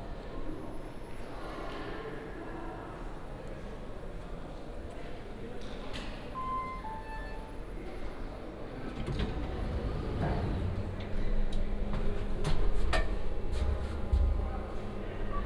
walk 11.9 - 14.9

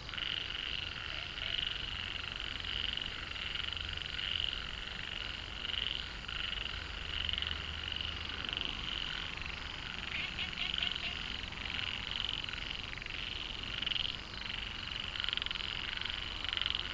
Frogs chirping 0.0 - 16.9
Traffic Sound 7.0 - 16.9

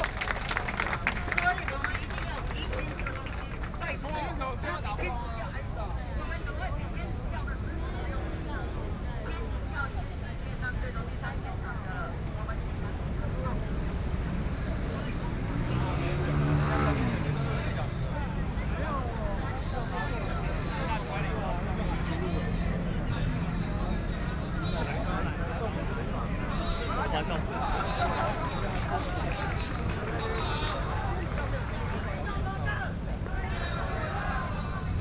Protest 11.4 - 35.0

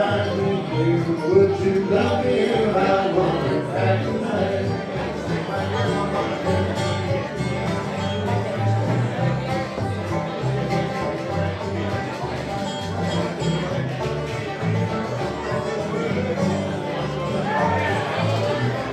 live country music 0.0 - 18.9

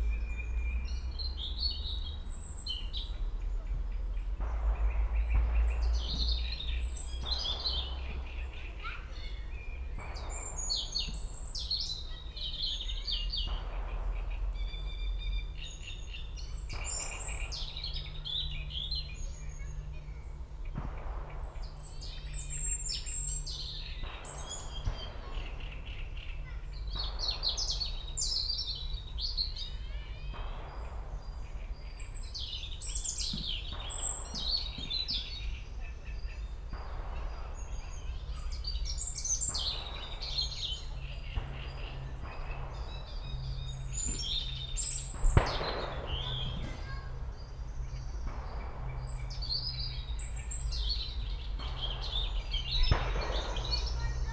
great read warbler 0.0 - 54.3
robin 0.0 - 54.3
heavy shooting 3.8 - 54.3
kids playing 23.4 - 54.3

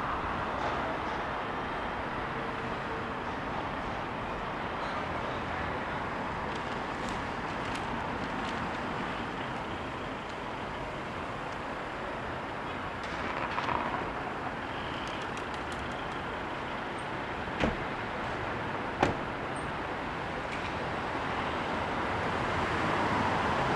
pedestrians walking 0.0 - 23.7
rollers on the sidewalk 0.0 - 23.7
vehicles passing 0.0 - 23.7
birds flying and flapping 13.1 - 16.4
car door opening 17.6 - 17.9
car door opening 19.0 - 19.4

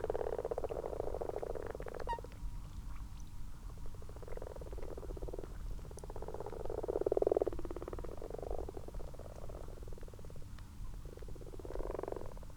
common toads 0.0 - 2.5
common frogs 0.0 - 12.5
common toads 3.7 - 12.5

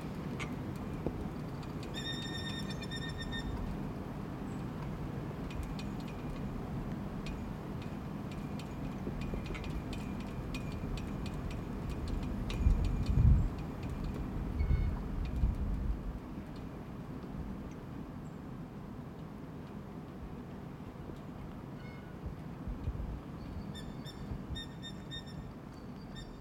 flags flapping in the wind 0.0 - 24.6

